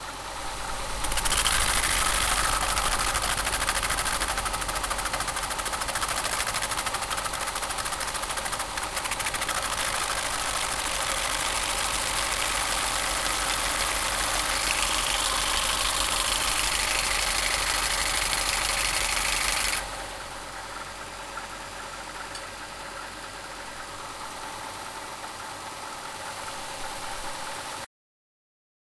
sanding 1.0 - 19.9

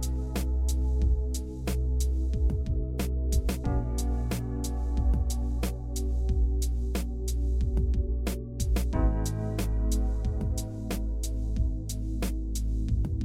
drums 0.0 - 13.2
synthesizer 0.0 - 13.2

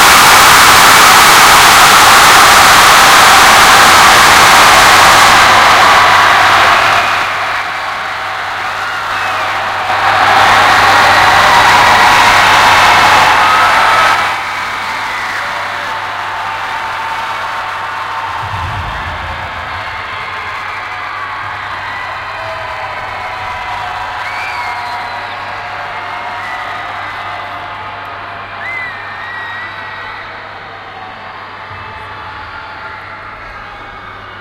Mass scream 0.0 - 7.4
Mass scream 18.3 - 22.1

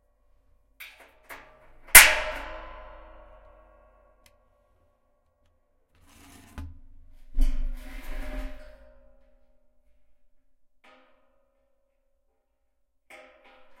Hitting metal barrel with prick punch 2.0 - 3.5

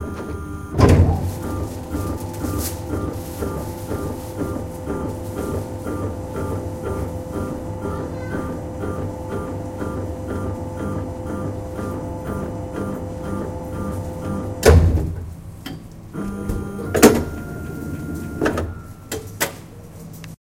machine that slices bread into pieces 0.0 - 15.0

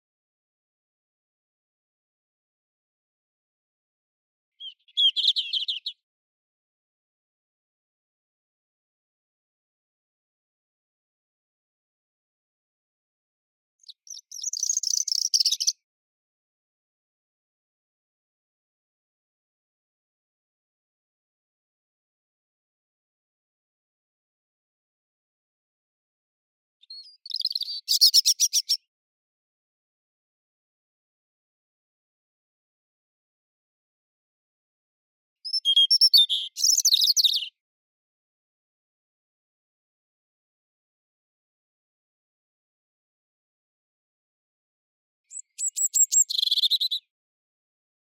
robin birdsong 4.6 - 6.0
robin birdsong 13.8 - 15.8
robin birdsong 26.8 - 28.8
robin birdsong 35.4 - 37.6
robin birdsong 45.3 - 47.1

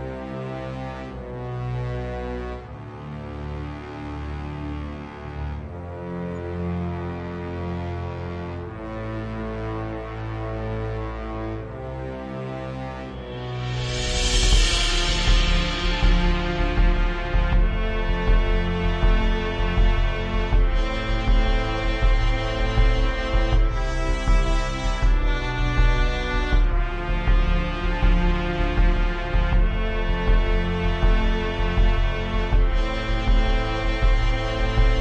Orchestra 0.0 - 35.0

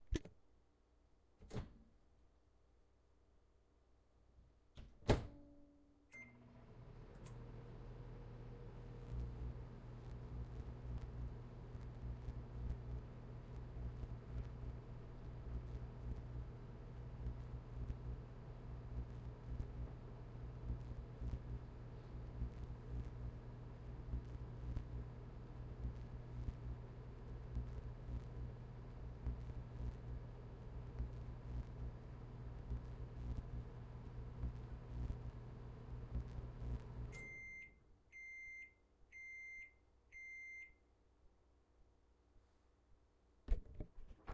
using a microwave 4.8 - 40.8

